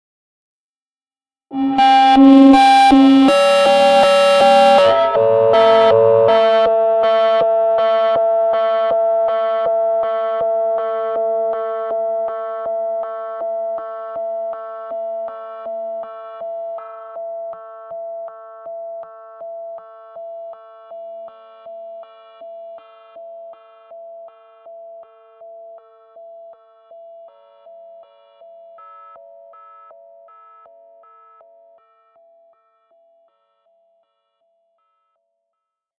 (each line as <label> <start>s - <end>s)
guitar 2-tone feedback with a delay 1.5s - 14.7s